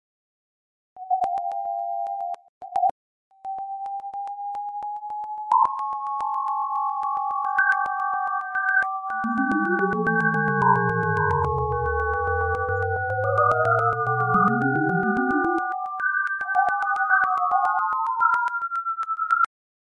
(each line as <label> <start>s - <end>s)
synth 7.0s - 19.1s